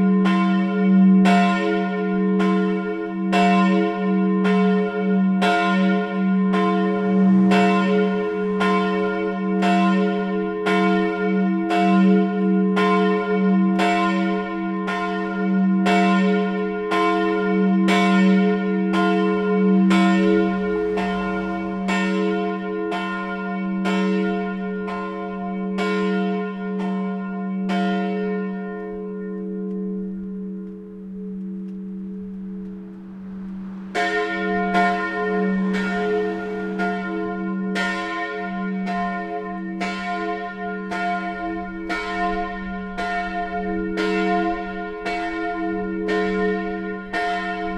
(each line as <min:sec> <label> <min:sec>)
0:00.0 churchbells 0:47.7